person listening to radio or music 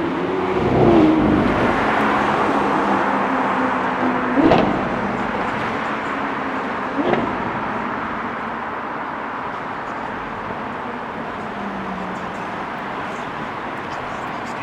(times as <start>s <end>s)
11.2s 14.6s